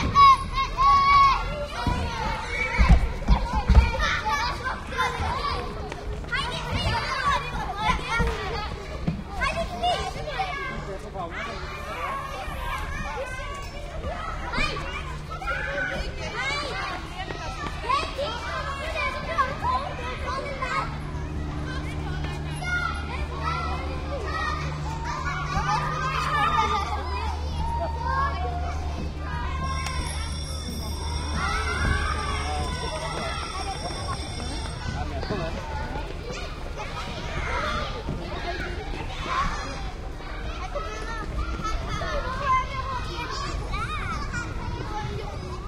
kids play/scream 0:00.0 - 0:45.6
school bell rings 0:28.9 - 0:36.0

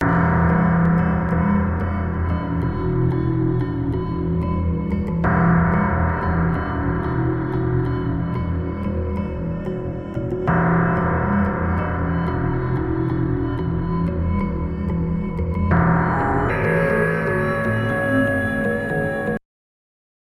Bells 0:15.7 - 0:19.4

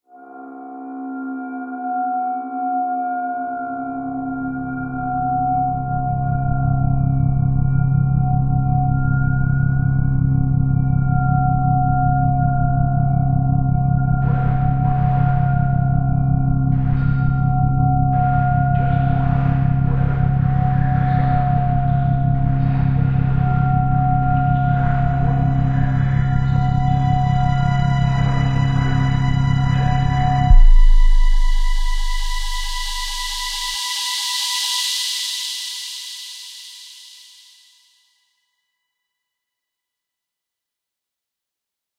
steam 0:31.9 - 0:37.5

